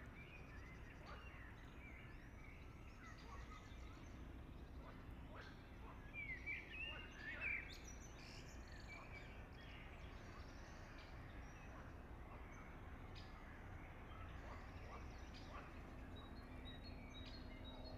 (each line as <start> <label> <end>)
14.0 Passage Helikopter 17.9